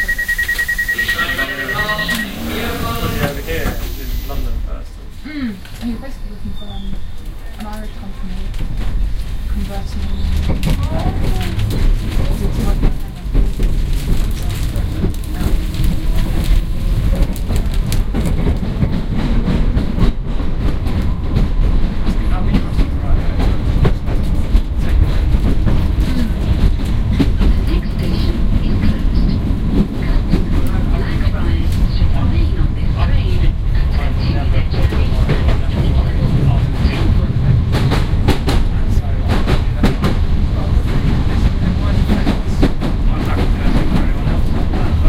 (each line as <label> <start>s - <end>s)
Announcement the station is closed 0.0s - 5.1s
Announcement the station is closed 21.9s - 45.0s